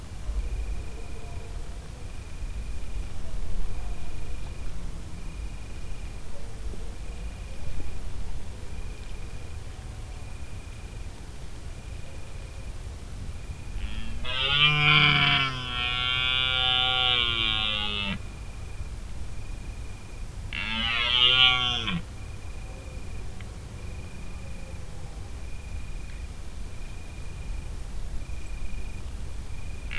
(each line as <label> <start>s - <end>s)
slight buzz 13.7s - 18.3s
Stag bellowing 13.8s - 18.3s
Stag bellowing 20.5s - 22.1s
slight buzz 20.5s - 22.1s